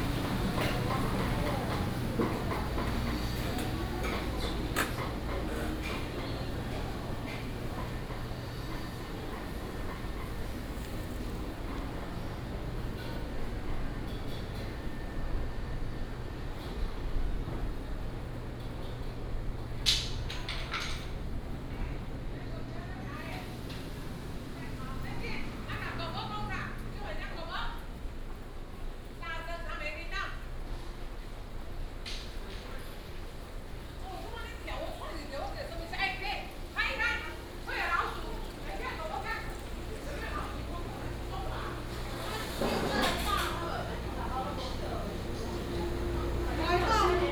Walking through the market 0.0 - 29.7
Walking through the market 30.4 - 47.3
Traffic Sound 36.3 - 47.3

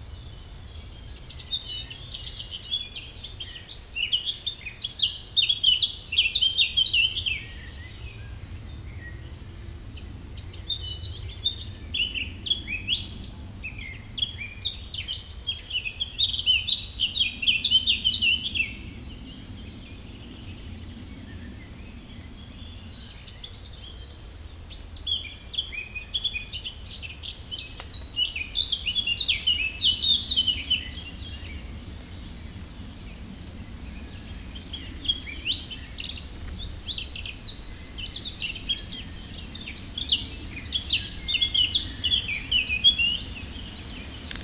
significant wind 0.0 - 44.4
Eurasian Blackcap 0.2 - 8.3
Eurasian Blackcap 21.5 - 31.6
Eurasian Blackcap 34.0 - 44.4

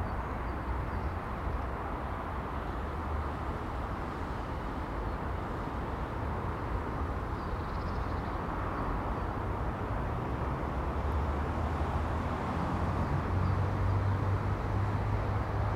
warm wind 0.0 - 15.7

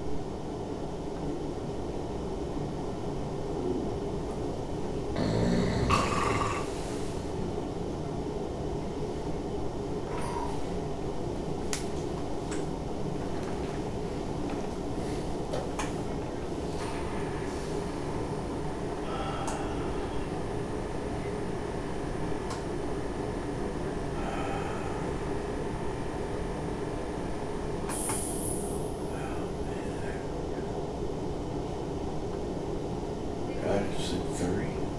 snores 5.1 - 7.4
people talking 33.5 - 34.9

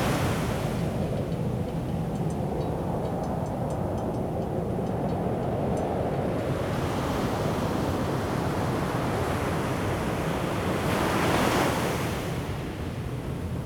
waves 0.0 - 2.4
waves 6.4 - 13.6

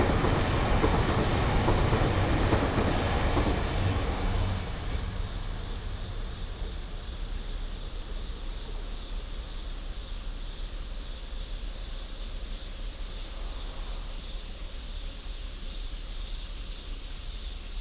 Traffic sound 0.0 - 8.2
Cicada sound 0.0 - 10.0
train runs through 0.0 - 15.4
Insects 0.0 - 17.8

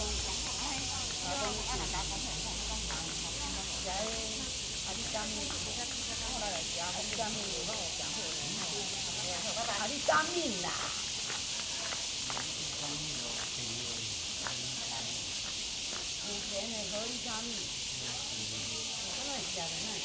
Cicadas cry 0.0 - 20.0
Footsteps 2.9 - 16.7
Pebbles on the ground 2.9 - 17.2

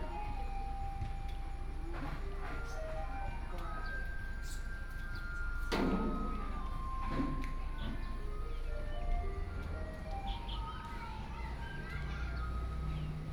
Garbage Truck 5.6 - 13.3
Traffic Sound 9.1 - 13.3
Birdsong sound 10.1 - 13.3

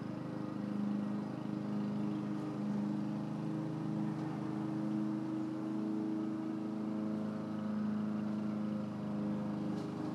cars 0.0 - 10.1
grass cutting machine 0.0 - 10.1
bicycle 9.4 - 10.1

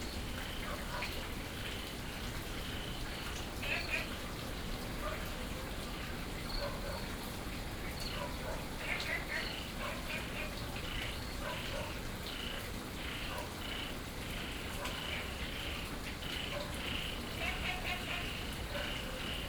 Frogs chirping 0.0 - 0.8
Dogs barking 0.6 - 1.2
Frogs chirping 1.6 - 5.2
Dogs barking 5.0 - 5.8
Dogs barking 6.5 - 7.4
Frogs chirping 7.8 - 19.4
Dogs barking 8.0 - 13.7
Dogs barking 14.7 - 15.4
Dogs barking 16.3 - 19.4

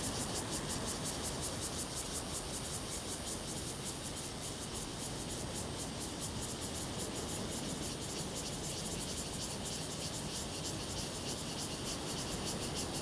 Cicadas sound 0.0 - 13.0

